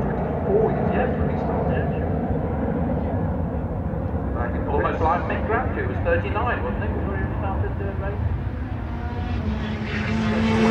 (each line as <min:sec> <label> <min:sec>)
0:04.3 commentary 0:08.3